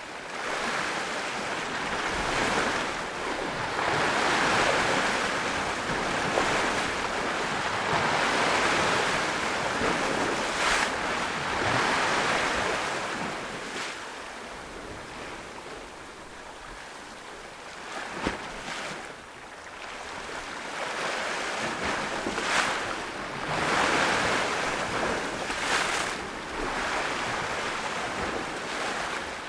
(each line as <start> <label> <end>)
0.0 waves by the rocks 29.4